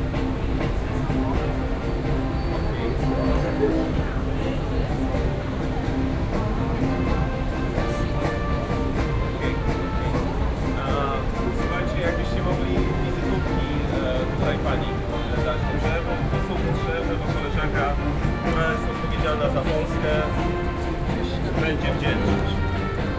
brass instruments reverberated off the walls of buildings 0.0 - 23.1
traffic 0.0 - 23.1
people talking 0.1 - 23.1

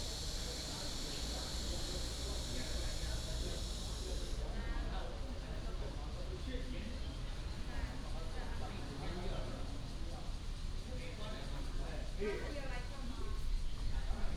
Cicada cry 0.0 - 4.4

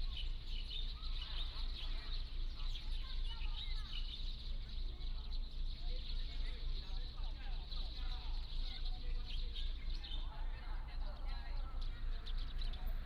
Birds singing 0.0 - 13.0
group of elderly tourists 0.0 - 13.0

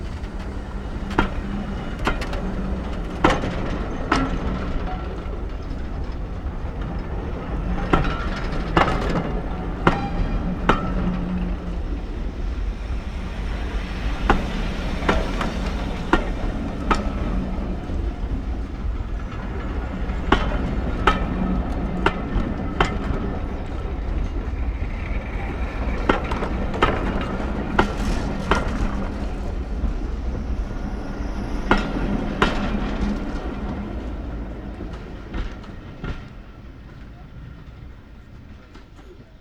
engine 0.0 - 38.0
Voices 0.0 - 39.4
steam 0.0 - 39.4
steam train leaves 0.0 - 39.4

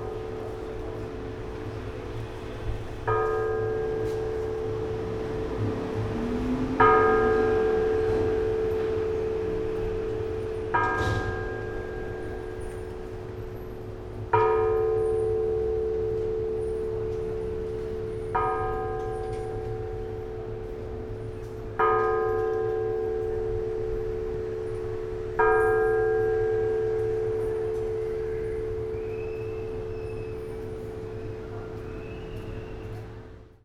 striking a bell standing on a pedestal 6.8 - 31.9

